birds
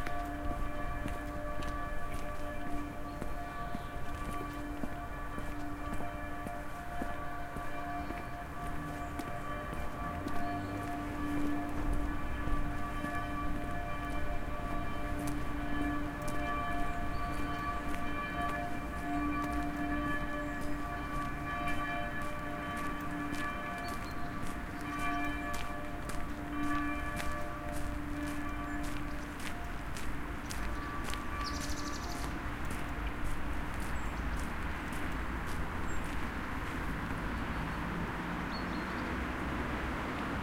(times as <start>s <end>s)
16.3s 21.8s, 23.1s 39.2s